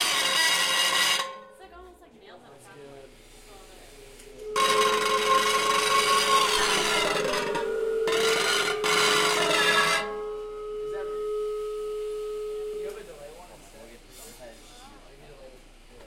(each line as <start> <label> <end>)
4.4 Intonarumori 13.2